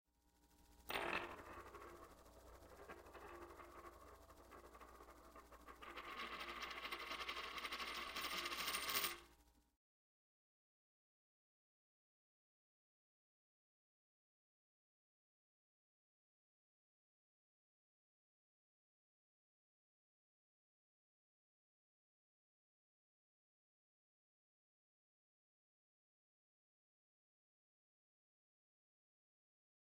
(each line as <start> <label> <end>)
0.9 Processed coin spinning 9.3